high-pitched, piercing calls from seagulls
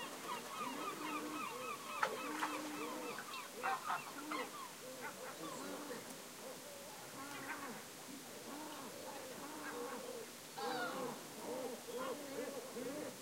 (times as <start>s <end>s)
0.0s 4.7s, 10.6s 11.2s